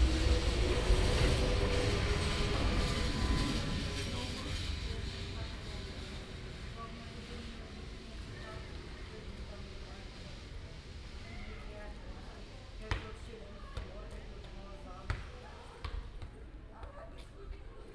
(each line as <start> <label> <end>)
0.0 tram 28 arriving 11.2
0.0 conversation on the street 17.9